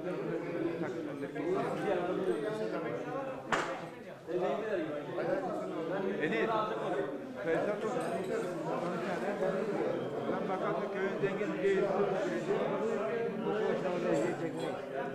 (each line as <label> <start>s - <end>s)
men are chatting 0.0s - 15.1s